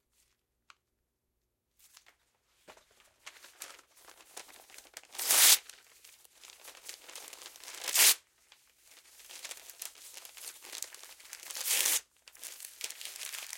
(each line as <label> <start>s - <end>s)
crumple 1.8s - 13.5s